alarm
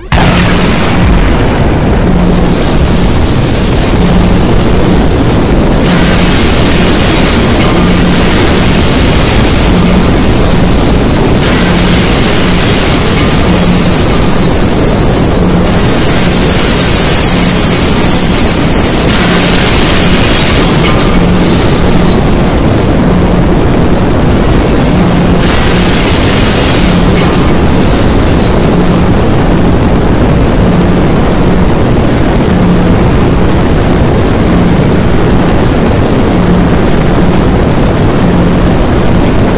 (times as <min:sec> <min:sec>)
0:00.0 0:31.6